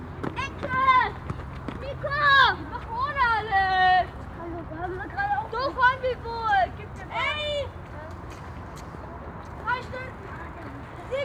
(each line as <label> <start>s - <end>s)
children playing soccer 0.0s - 7.8s
motor traffic 0.0s - 8.1s